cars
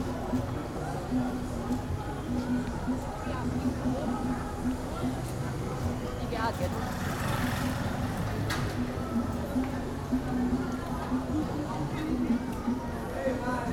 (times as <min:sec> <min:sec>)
0:05.2 0:09.9